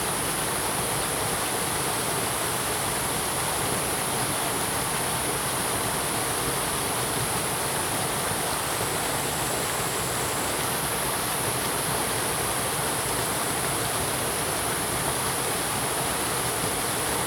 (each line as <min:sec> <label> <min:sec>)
0:00.0 water streams 0:17.2